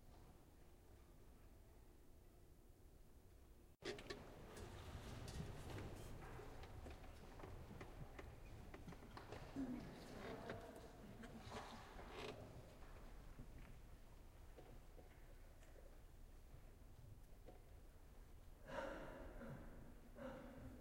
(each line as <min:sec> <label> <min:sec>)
0:18.6 clear throat 0:20.8
0:18.7 coughing 0:20.8